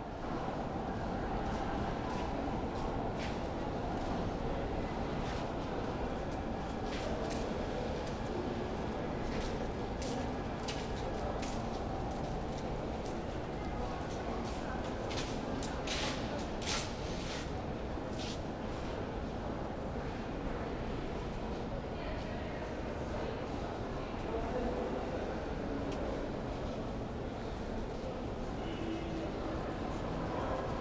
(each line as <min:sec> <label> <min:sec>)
0:17.5 metro line 0:30.8